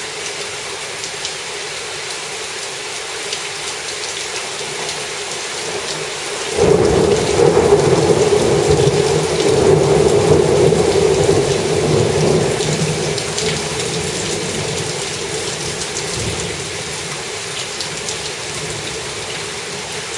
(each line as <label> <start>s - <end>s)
Heavy rain 0.0s - 20.1s
occasional thunder 6.5s - 14.8s